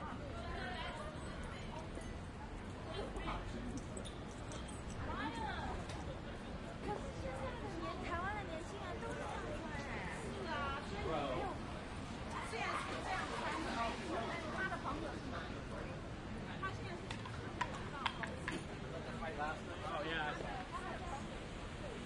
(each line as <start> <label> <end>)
0.0 traffic 22.0
5.0 people talking 22.0